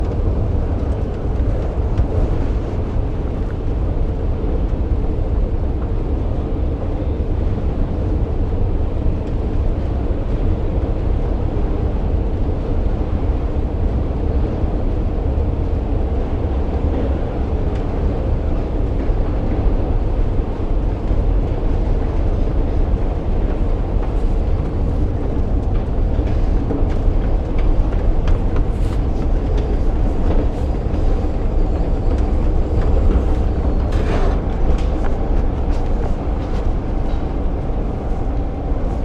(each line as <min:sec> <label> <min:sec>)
0:22.0 footsteps 0:39.0